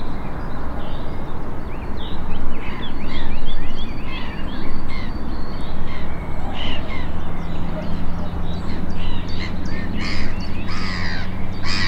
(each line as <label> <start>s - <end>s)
black-headed gulls 5.9s - 11.8s